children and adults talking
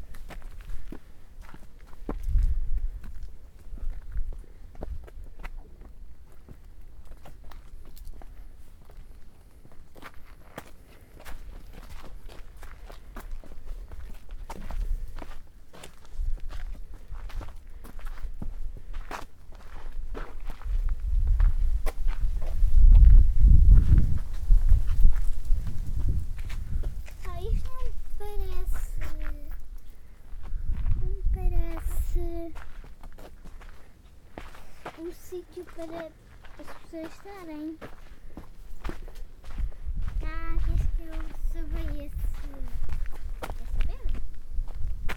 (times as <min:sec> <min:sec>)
0:27.1 0:29.6, 0:31.0 0:32.6, 0:34.8 0:37.8, 0:40.2 0:44.2